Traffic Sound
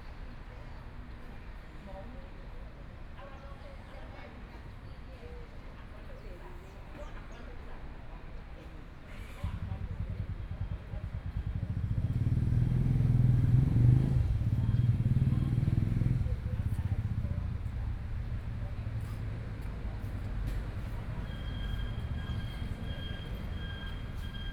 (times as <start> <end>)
11.1 24.5